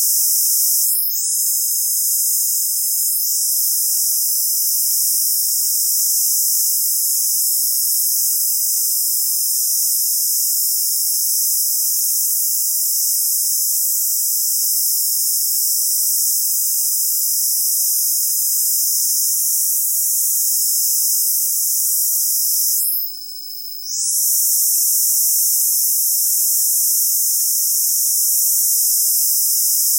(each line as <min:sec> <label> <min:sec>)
0:00.0 Synthetic cicadas 0:29.9